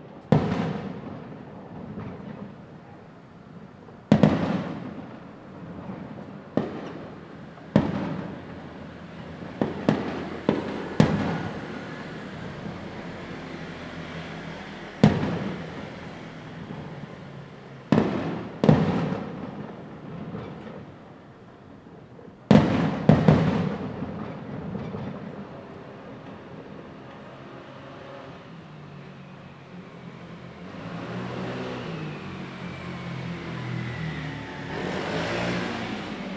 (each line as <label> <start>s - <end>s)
Firework 0.0s - 36.3s
Traffic Sound 0.0s - 36.3s